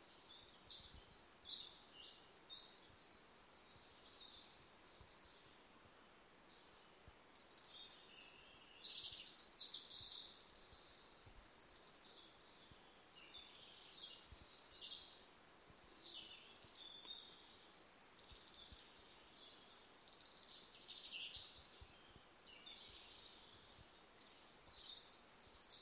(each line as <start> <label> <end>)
0.0 Birds singing 5.7
6.5 Birds singing 25.8